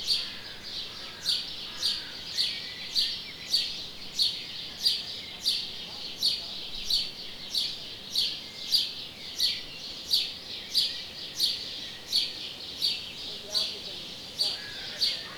sparrows 0:00.0 - 0:15.3

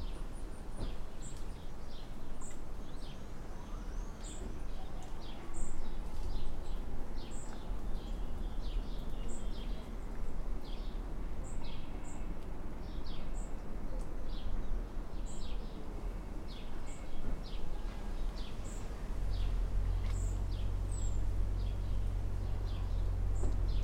birds 0:00.0 - 0:23.8
traffic 0:00.0 - 0:23.8
wind 0:00.0 - 0:23.8

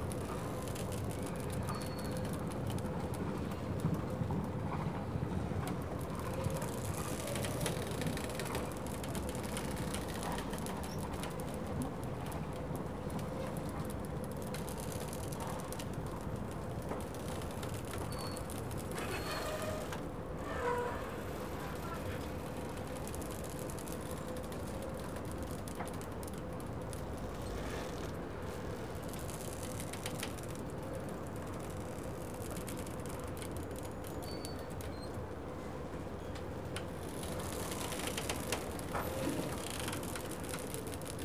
Boats pulling at their moorings, squeaking, creaking, and squealing 0:00.0 - 0:41.2

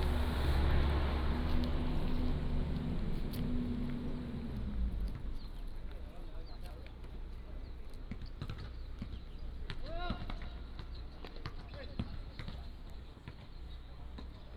soldiers are doing sports 0:06.0 - 0:14.5

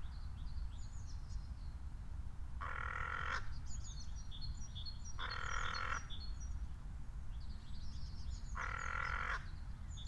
crow on a tree branch 0:08.6 - 0:09.5

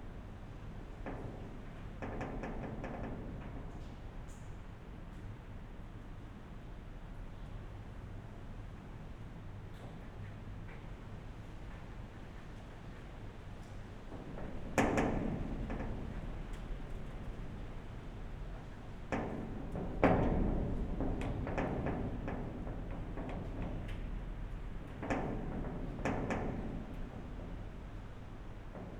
wind moves iron gate 0:14.1 - 0:28.9

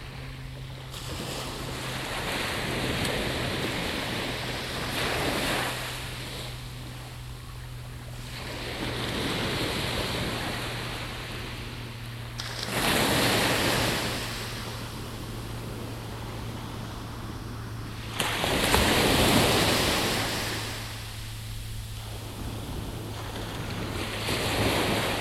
waves breaking 0:00.0 - 0:25.2

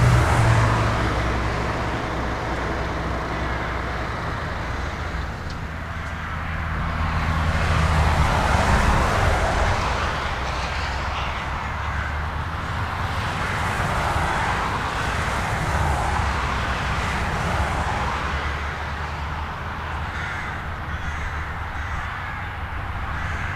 road traffic 0:00.0 - 0:23.5
trucks 0:00.0 - 0:23.5
crows 0:05.8 - 0:16.4
crows 0:17.0 - 0:23.5

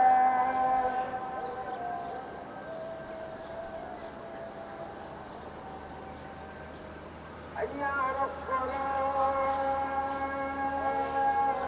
Muazin 0:00.0 - 0:11.6

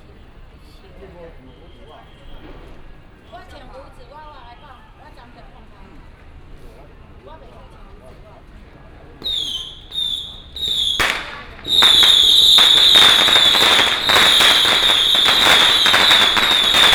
Traffic sound 0:00.0 - 0:16.9
Firecrackers 0:09.2 - 0:16.9
fireworks 0:09.2 - 0:16.9

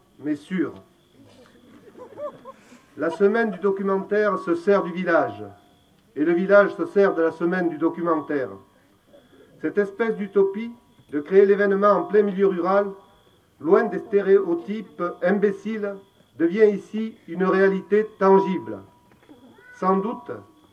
Mayors opening speech 0:00.0 - 0:05.6
Mayors opening speech 0:06.2 - 0:20.5

